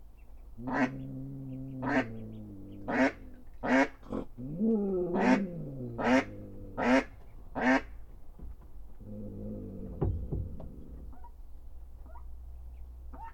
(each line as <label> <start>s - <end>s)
hen mallard guards her ducklings 0.5s - 4.3s
hen mallard guards her ducklings 6.0s - 8.0s